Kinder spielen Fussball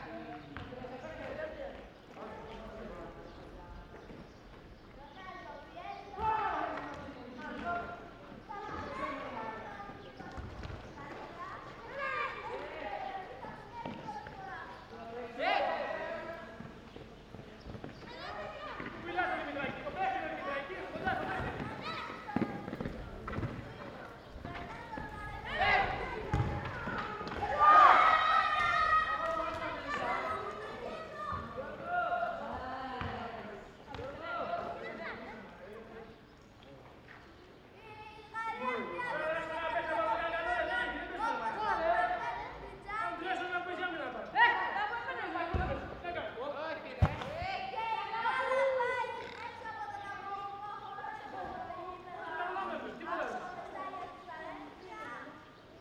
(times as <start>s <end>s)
21.0s 27.6s, 47.0s 47.5s